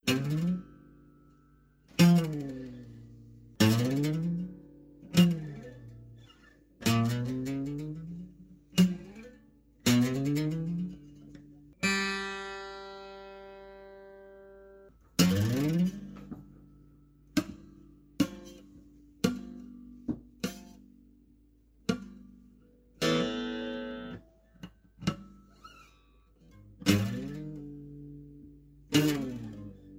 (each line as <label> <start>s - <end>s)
Acoustic guitar boings and twangs 0.0s - 1.1s
Acoustic guitar boings and twangs 15.2s - 16.7s
Acoustic guitar boings and twangs 23.0s - 25.9s
Acoustic guitar boings and twangs 26.8s - 29.9s